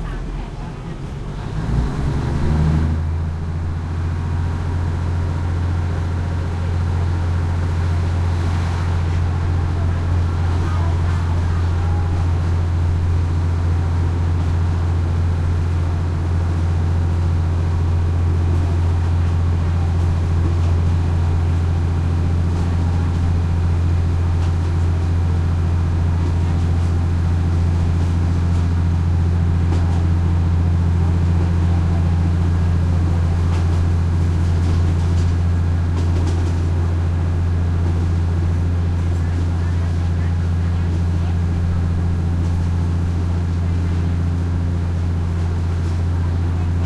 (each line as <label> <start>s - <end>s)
loud engine 0.0s - 46.8s
passenger commuter train 0.0s - 46.8s
thai chatter walla 0.0s - 46.8s